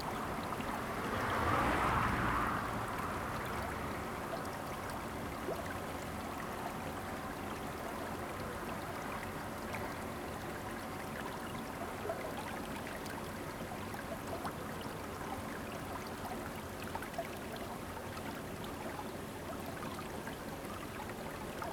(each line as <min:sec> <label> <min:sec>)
0:00.0 Irrigation waterway 0:21.7
0:00.0 Stream 0:21.7
0:00.2 Traffic Sound 0:04.2